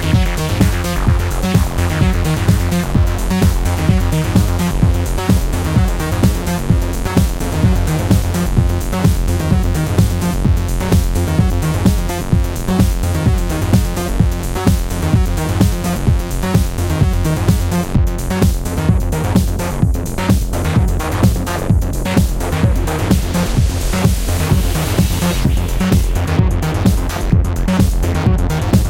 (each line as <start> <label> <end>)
0.0 Drums 28.8
0.0 synth 28.8